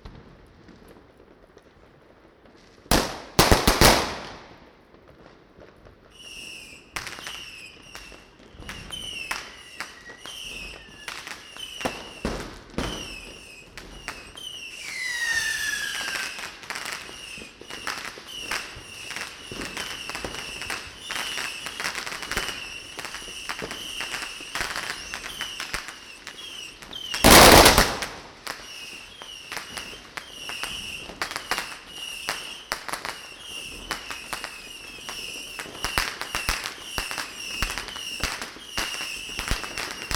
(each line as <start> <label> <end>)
0.0 fireworks 40.1